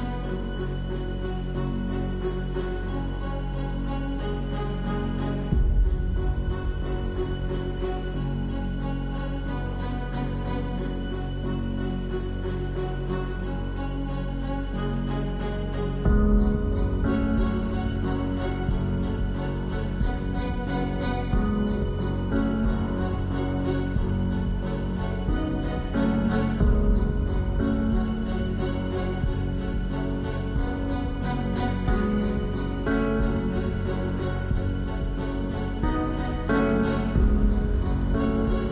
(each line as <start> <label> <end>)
0.0 bass 38.7
0.0 piano 38.7
0.0 strings 38.7
5.3 percussions 10.6
16.0 percussions 38.7